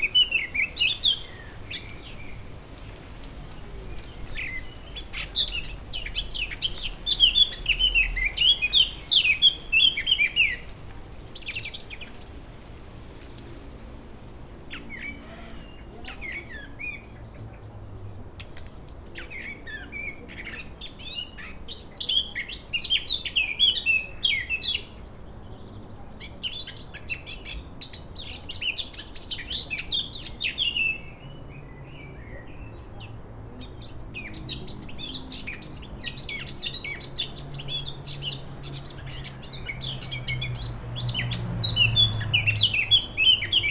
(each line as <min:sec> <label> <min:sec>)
0:00.0 birds in the garden 0:43.7
0:00.0 wind in the trees 0:43.7
0:29.4 car passes in the street 0:43.7